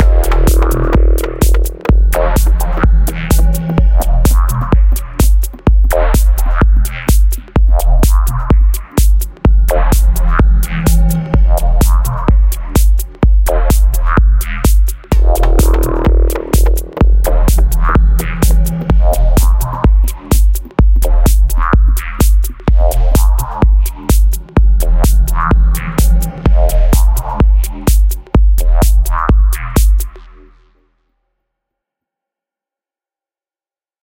Kick 0:00.0 - 0:30.1
arrhythmic synth 0:00.0 - 0:30.1
Bassline 0:00.0 - 0:30.9

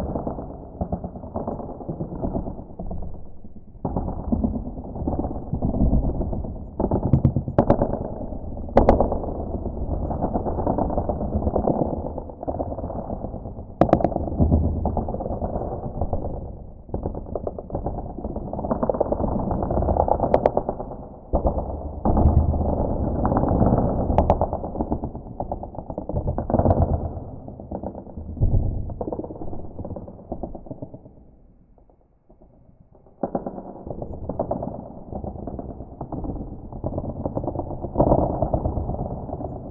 cookiecrack earthquake 0:00.0 - 0:39.7

